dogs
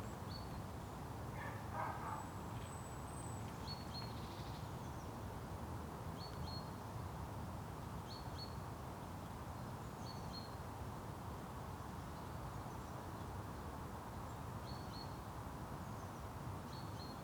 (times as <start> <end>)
1.4 2.3